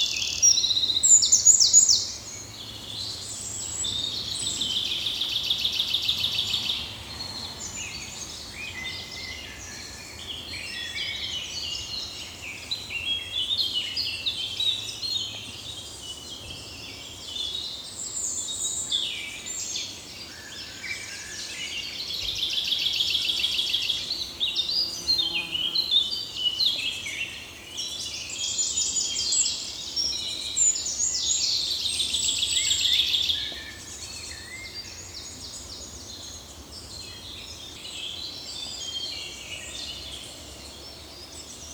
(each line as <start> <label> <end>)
0.0 Eurasian Blackcap 7.0
0.0 European Robin 41.7